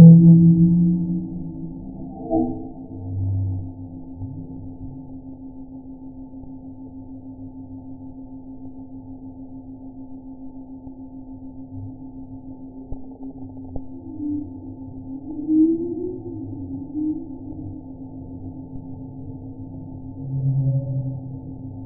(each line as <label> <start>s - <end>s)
musical modulated voices 0.0s - 5.0s